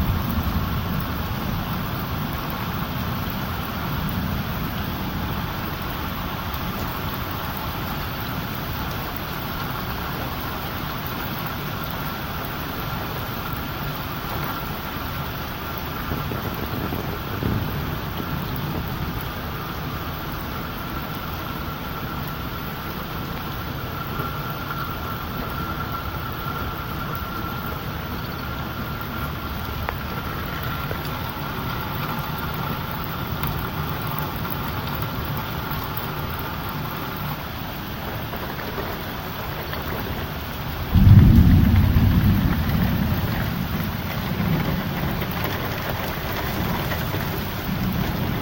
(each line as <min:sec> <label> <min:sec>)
0:00.0 thunder 0:06.7
0:00.0 rain 0:48.4
0:14.2 thunder 0:20.0
0:38.1 thunder 0:48.4